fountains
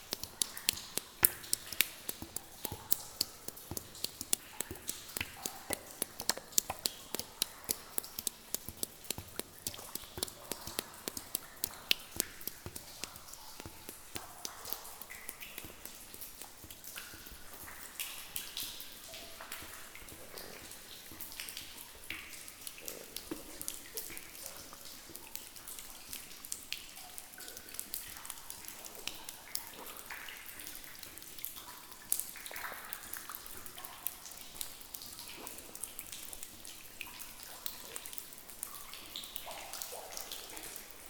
0:00.0 0:26.0

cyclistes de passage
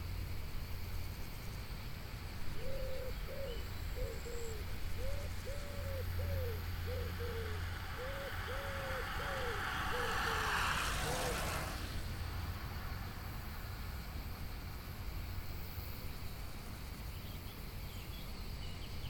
0:06.6 0:14.5

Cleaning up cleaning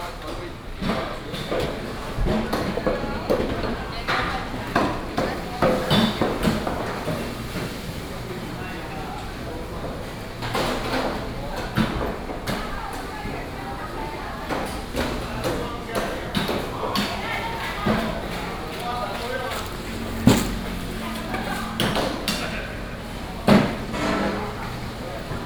0:14.7 0:25.4

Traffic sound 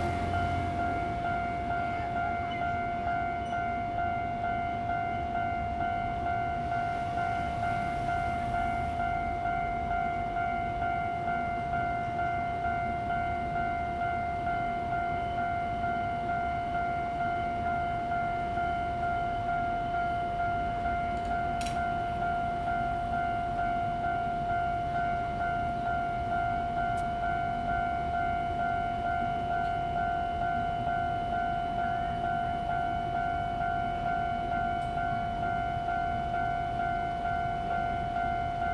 0:00.0 0:15.0

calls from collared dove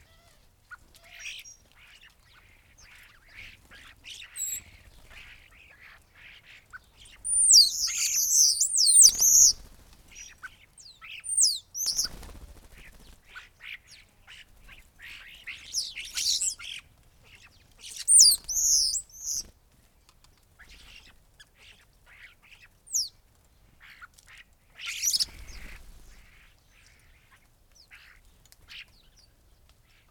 0:00.0 0:16.8, 0:17.4 0:19.5, 0:24.8 0:27.3

